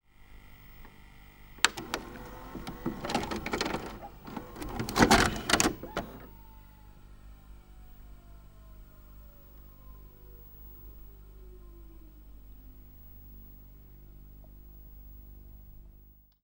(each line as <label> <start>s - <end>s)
VHS tape ejecting 1.6s - 6.4s